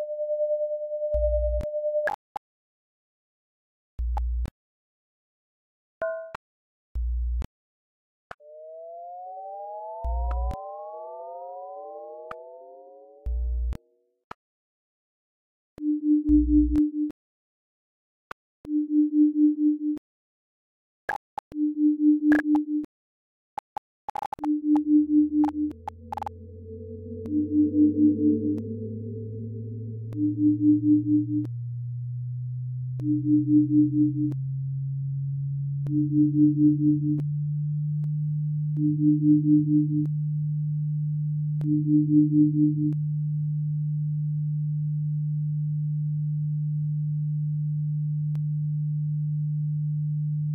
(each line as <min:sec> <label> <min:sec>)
0:25.4 beeps 0:31.5
0:25.7 electronic whirring 0:31.6